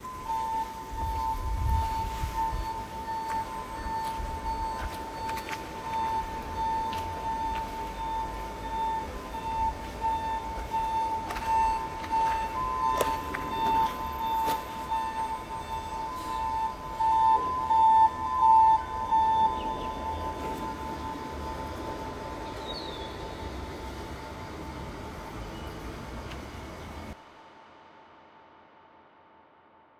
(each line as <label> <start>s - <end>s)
alarm or signal sounds out of an empty building 0.0s - 27.2s
rising wind 0.0s - 27.2s
explorer walks 0.0s - 23.4s
bird chirps cautiously 0.1s - 24.3s